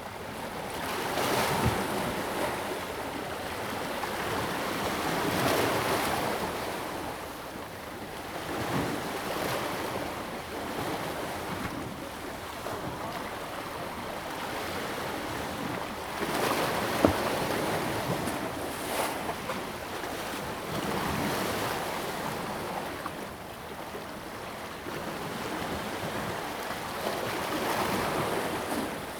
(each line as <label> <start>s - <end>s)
Waves lapping the pier 0.2s - 29.1s